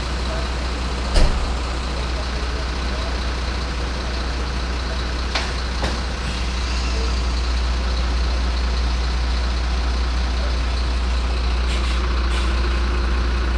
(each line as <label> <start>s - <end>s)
garbage truck in the narrow road, loading and driving away 0.0s - 13.5s